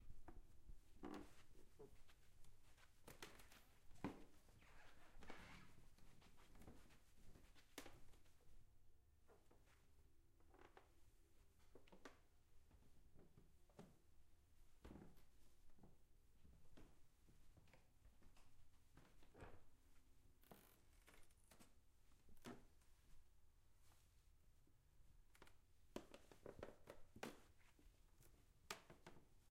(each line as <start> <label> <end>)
1.0 Walking on a creaking wooden floor 2.1